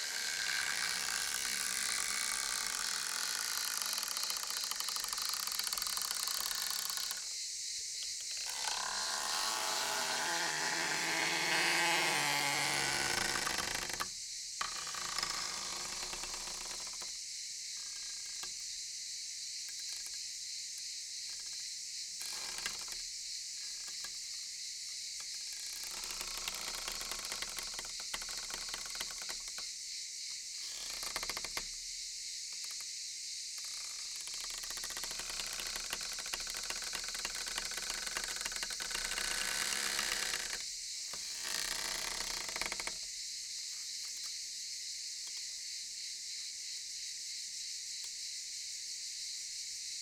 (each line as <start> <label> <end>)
0.0 creaky door sound resembling a cicada 50.0